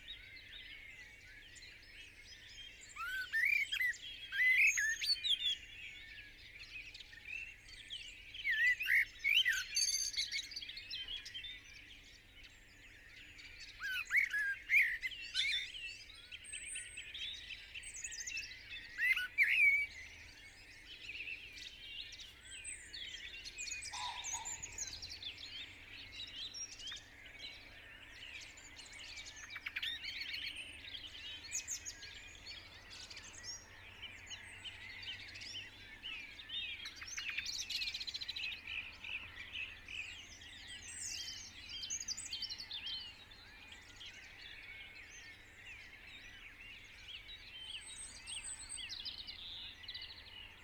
0.0s pheasant 7.6s
0.0s blackbird 50.6s
0.0s song thrush 50.6s
8.4s pheasant 50.6s
23.2s robin 28.8s

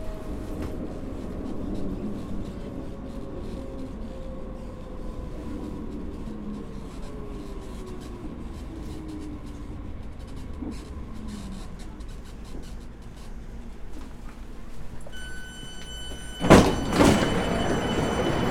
0.0s walking through the large hall 18.5s
15.0s main station is anounced 18.5s

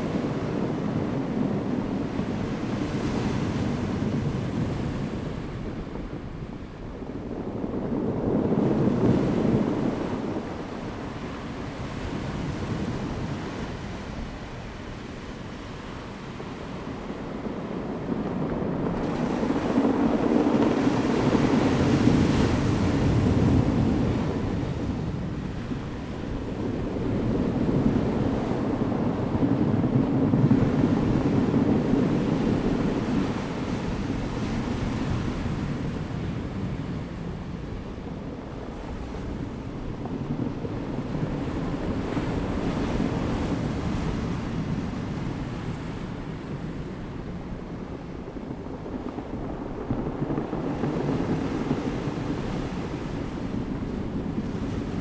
0.0s waves 55.0s

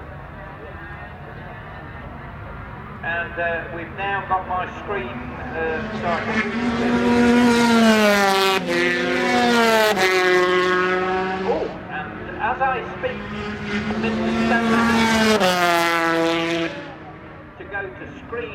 2.9s commentary 7.4s
11.2s commentary 18.5s

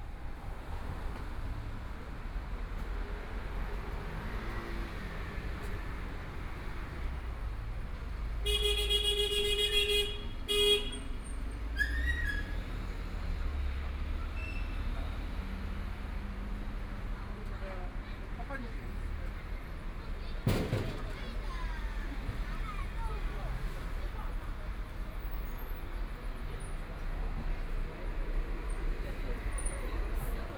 0.0s Walking on the street 30.5s

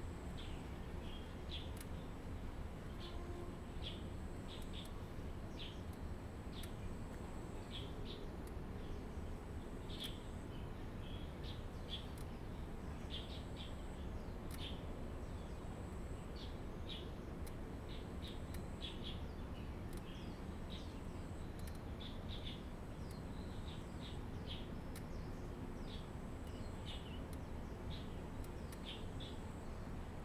17.9s Birdsong sound 29.8s

